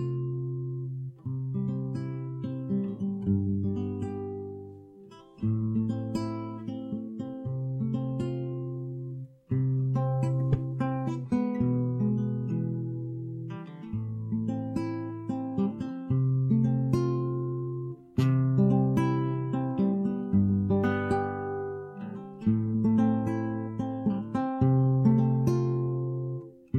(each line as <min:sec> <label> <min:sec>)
0:00.0 solo classical guitar 0:26.7